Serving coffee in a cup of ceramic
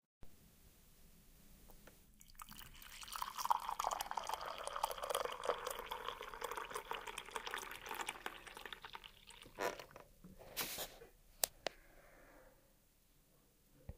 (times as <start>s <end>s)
2.2s 10.0s